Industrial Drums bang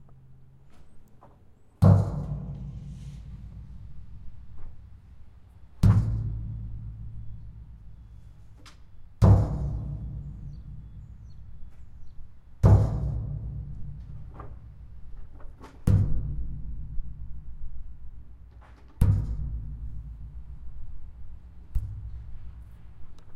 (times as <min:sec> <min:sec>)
0:09.2 0:10.9, 0:12.6 0:14.1